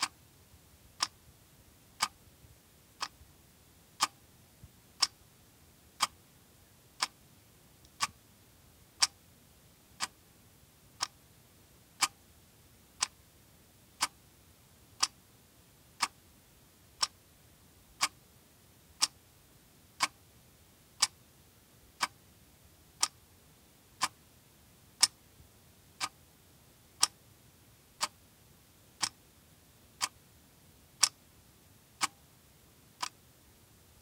2.0s Plastic Quartz clock ticking 2.2s
3.0s Plastic Quartz clock ticking 3.2s
4.0s Plastic Quartz clock ticking 4.2s
5.0s Plastic Quartz clock ticking 5.2s
6.0s Plastic Quartz clock ticking 6.2s
7.8s Plastic Quartz clock ticking 8.2s
14.0s Plastic Quartz clock ticking 14.2s
20.0s Plastic Quartz clock ticking 20.2s
23.0s Plastic Quartz clock ticking 23.2s
29.0s Plastic Quartz clock ticking 29.2s
30.0s Plastic Quartz clock ticking 30.2s
31.0s Plastic Quartz clock ticking 31.2s
32.0s Plastic Quartz clock ticking 32.2s

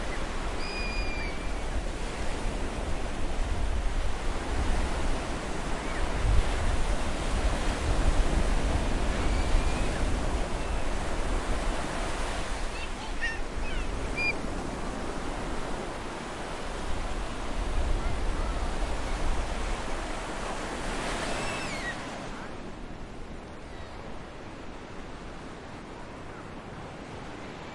0.0s waves 27.7s
12.2s children are playing with waves 14.7s
16.9s children are playing with waves 22.6s

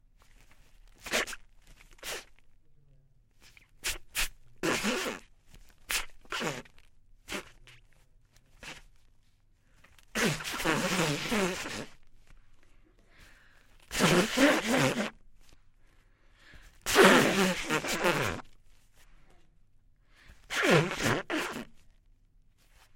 1.0s Female nose blow 2.4s
3.8s Female nose blow 7.6s
8.6s Female nose blow 8.9s
10.0s Female nose blow 12.0s
13.8s Female nose blow 15.6s
16.5s Female nose blow 18.6s
20.1s Female nose blow 21.8s

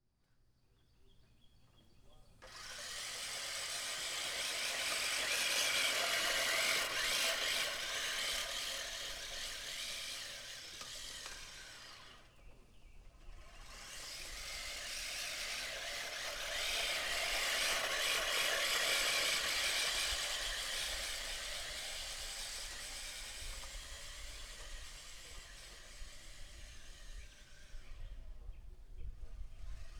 2.4s manual rotary mower making several passes 29.9s

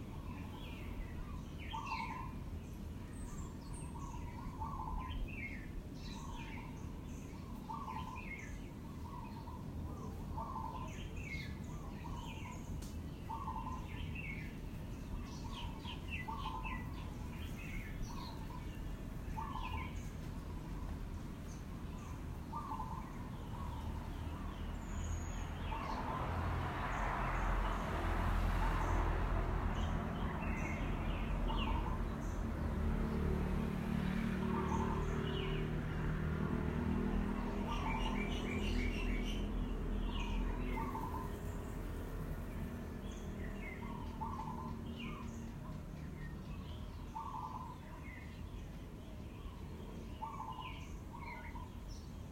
0.0s birds in the trees 52.3s
22.5s occasional car or motorcycle comes by 47.7s

